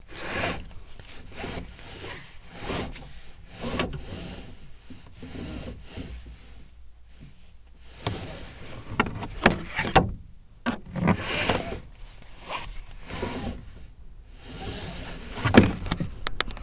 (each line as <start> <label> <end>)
7.9 Pulling Seatbelt 16.6